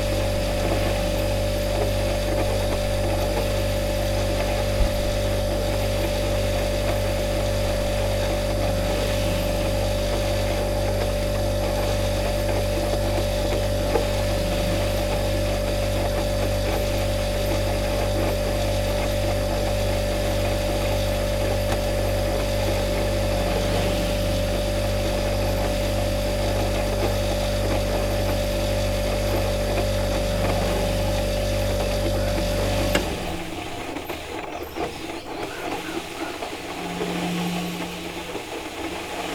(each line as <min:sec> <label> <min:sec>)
0:00.0 coffee machine 0:39.3
0:00.0 fridge compressor 0:39.3